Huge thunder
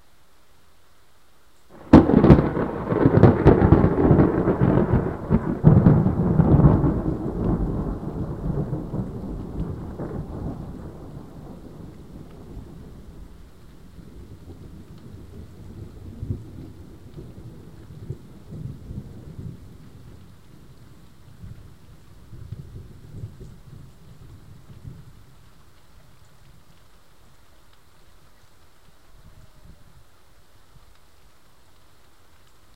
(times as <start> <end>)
1.7 25.3